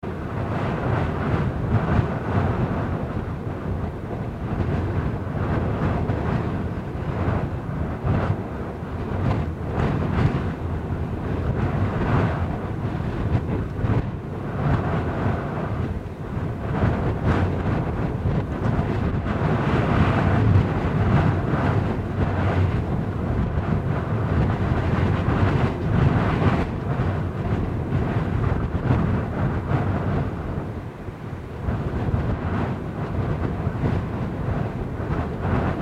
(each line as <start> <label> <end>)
0.0 Wind thru window van 35.8